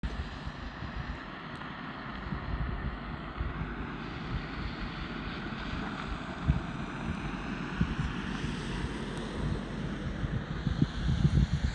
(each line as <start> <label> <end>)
0.0 car 11.7